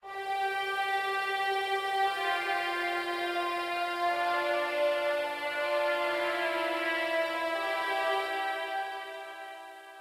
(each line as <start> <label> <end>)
0.0 strings 10.0